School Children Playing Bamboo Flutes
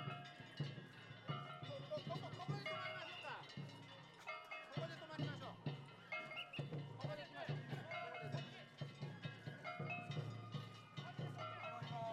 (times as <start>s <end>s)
6.0s 7.0s, 9.1s 12.1s